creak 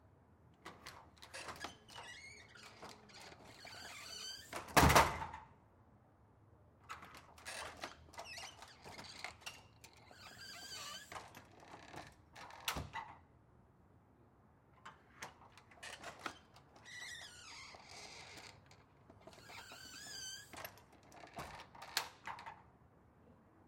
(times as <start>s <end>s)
0.7s 4.7s, 6.9s 13.1s, 15.2s 22.6s